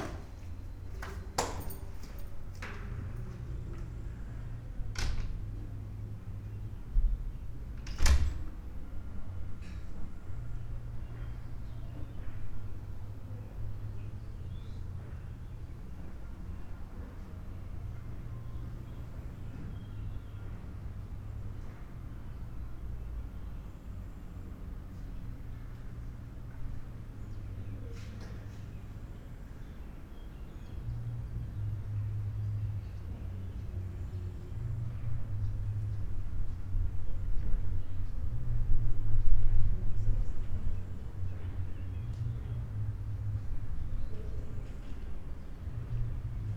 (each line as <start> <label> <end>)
0.0 keys 4.0
0.0 doors 5.6
0.0 old lady knitting by the window 46.5